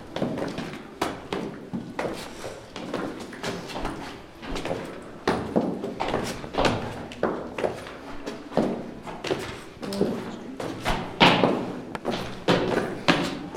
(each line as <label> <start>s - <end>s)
pas dans les escaliers du manoir 4.0s - 13.5s